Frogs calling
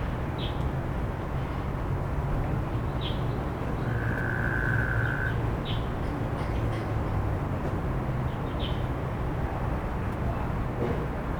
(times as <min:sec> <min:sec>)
0:03.8 0:05.4